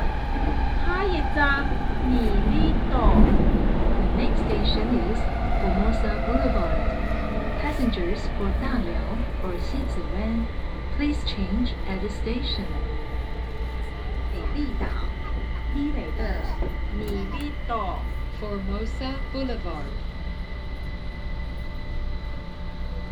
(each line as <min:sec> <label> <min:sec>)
0:00.0 Red Line (KMRT) 0:23.1